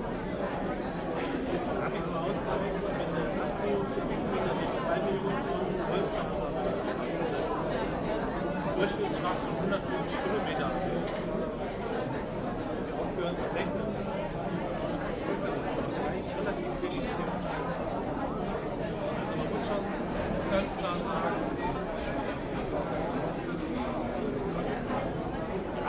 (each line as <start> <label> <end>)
0.0 crowd is rather talking 25.8